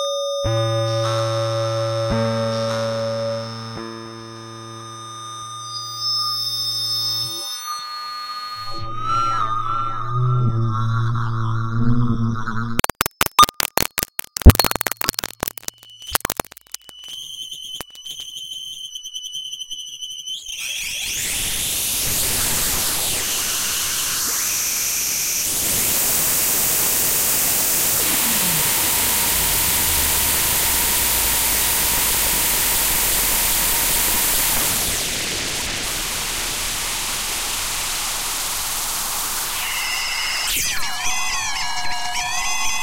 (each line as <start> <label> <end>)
12.5 Glitch 18.2
12.6 Crackle 41.0
12.8 Static 17.1
20.6 Glitch 41.2
21.2 Static 40.9